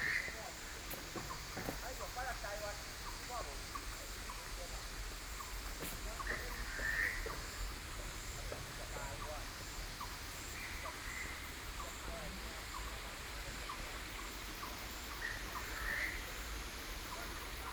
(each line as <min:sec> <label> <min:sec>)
0:00.0 Frog calls 0:05.6
0:00.0 Cicada sounds 0:17.7
0:06.2 Frog calls 0:08.3
0:13.6 Frog calls 0:17.7